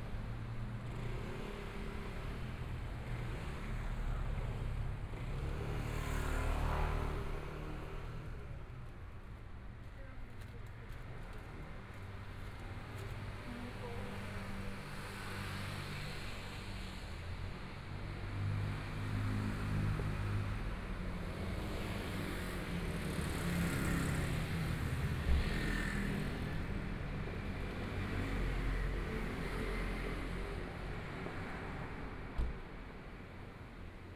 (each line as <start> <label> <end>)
0.0 Walking on the street 17.0